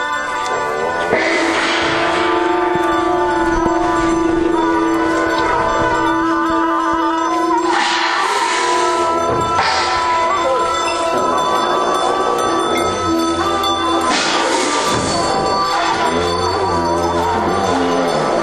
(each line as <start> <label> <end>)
0.0 religious procession 18.4